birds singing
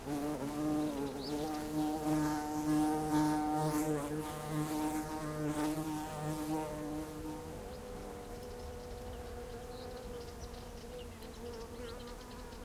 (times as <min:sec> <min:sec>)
0:00.6 0:02.8, 0:07.2 0:12.6